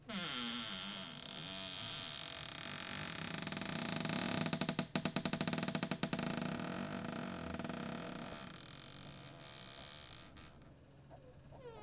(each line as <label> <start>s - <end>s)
cupboard creak 0.0s - 10.7s